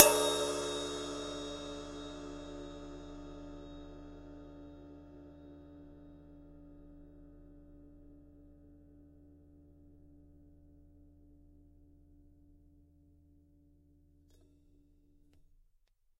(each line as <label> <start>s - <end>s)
cymbal 0.0s - 8.1s